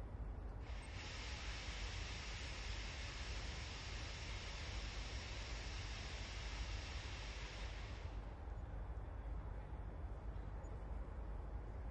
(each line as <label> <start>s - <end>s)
locomotive passes slowly 0.0s - 11.9s